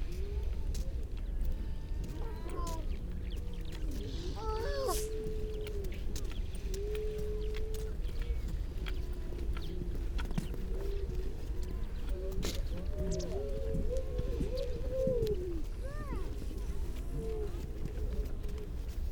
grey seals 0.0 - 19.1
human baby 2.0 - 2.9
human baby 4.4 - 5.3

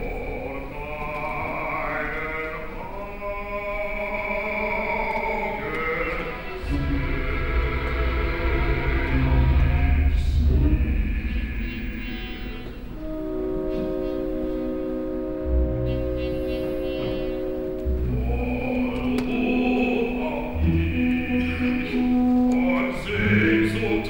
older chairs 0.0 - 24.0
orchestra 0.0 - 24.0
sounds of the audience 0.0 - 24.0
voice 18.1 - 24.0

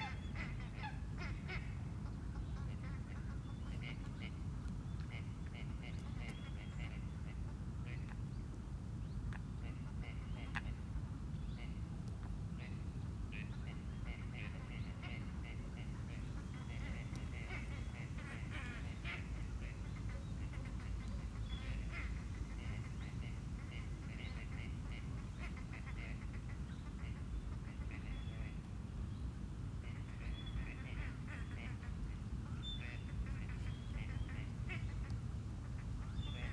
moorhen pattering across the lake surface 14.1 - 28.1

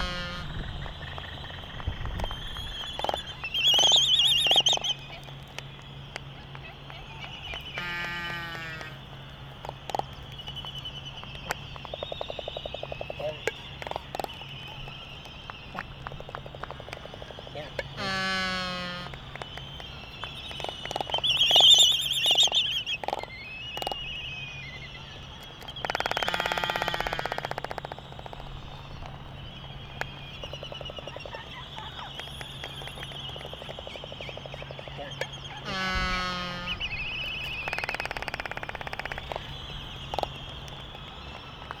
canaries 0.0 - 5.4
calls and bill clapperings 0.0 - 41.8
white terns 0.0 - 41.8
canaries 24.6 - 40.5

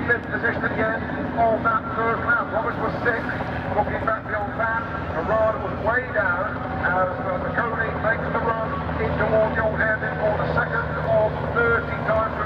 500cc motorcycle race 0.0 - 12.4

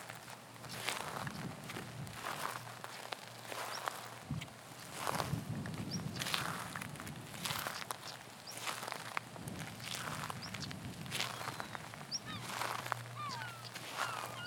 walking meditation 0.0 - 14.4

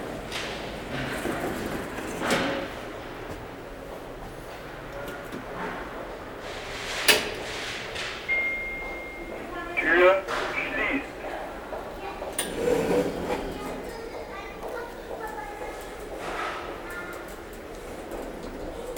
train arriving 0.0 - 18.9
elevator 7.0 - 9.5
elevator 12.3 - 14.0

